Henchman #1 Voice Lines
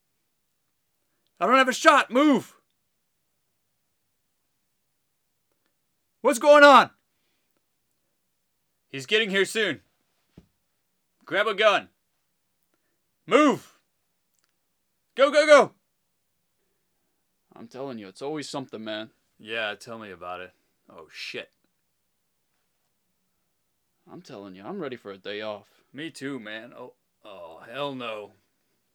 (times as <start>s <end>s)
1.4s 2.5s, 6.3s 6.9s, 13.3s 13.7s, 15.2s 15.7s, 26.6s 28.3s